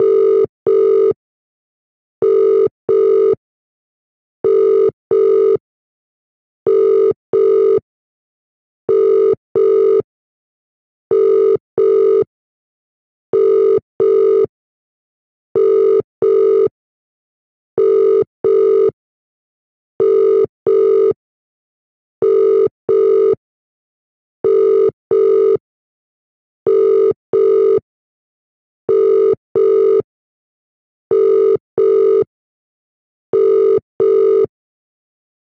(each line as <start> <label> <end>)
0.0 Mobile phone ringing sound 1.2
2.2 Mobile phone ringing sound 3.4
4.4 Mobile phone ringing sound 5.6
6.7 Mobile phone ringing sound 7.8
8.9 Mobile phone ringing sound 10.1
11.1 Mobile phone ringing sound 12.3
13.3 Mobile phone ringing sound 14.5
15.6 Mobile phone ringing sound 16.8
17.8 Mobile phone ringing sound 19.0
20.0 Mobile phone ringing sound 21.2
22.2 Mobile phone ringing sound 23.4
24.4 Mobile phone ringing sound 25.6
26.7 Mobile phone ringing sound 27.8
28.9 Mobile phone ringing sound 30.1
31.1 Mobile phone ringing sound 32.3
33.3 Mobile phone ringing sound 34.5